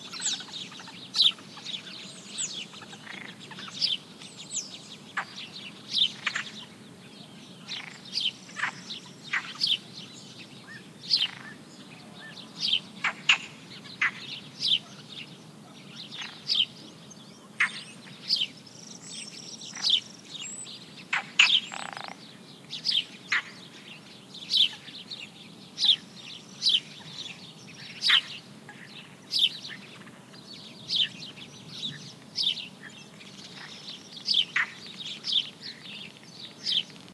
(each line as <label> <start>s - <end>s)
house sparrows chirping 0.0s - 37.1s
croaking frogs 2.8s - 3.8s
croaking frogs 13.0s - 14.2s
croaking frogs 21.1s - 22.2s